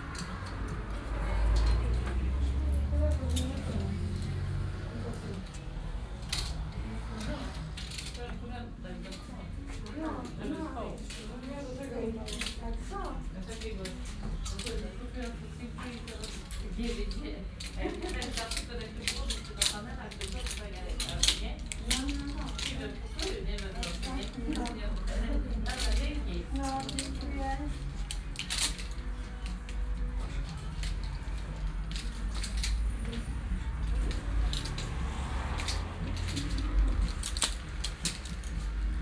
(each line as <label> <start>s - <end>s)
customers sliding plastic hangers with clothes 0.0s - 39.0s
small radio playing by the entrance 0.0s - 39.0s
traffic noise from the street 0.0s - 39.0s